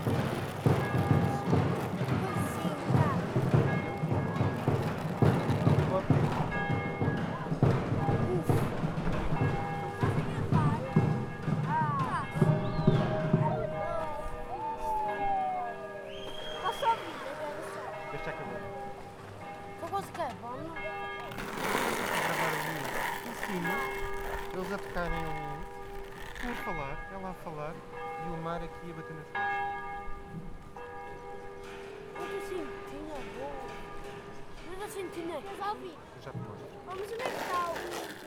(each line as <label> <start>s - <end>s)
plastic_percussion 0.0s - 13.2s
bell_church 0.0s - 37.0s
kids talking 1.1s - 26.9s
waves 16.3s - 18.8s
plastic_percussion 21.2s - 27.0s
kids talking 32.2s - 38.2s
plastic_percussion 36.9s - 38.2s